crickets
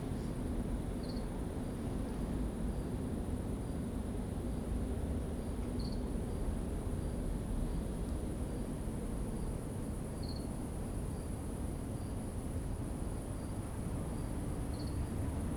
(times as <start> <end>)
0.9 3.0, 5.4 15.5